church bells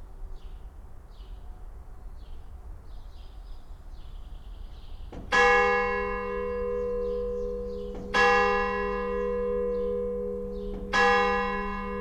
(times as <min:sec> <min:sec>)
0:05.2 0:12.0